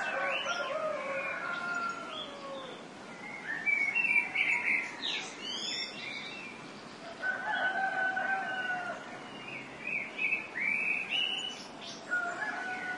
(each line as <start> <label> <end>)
0.0 cocks 2.7
0.0 dawn chorus 12.9
7.0 cocks 9.0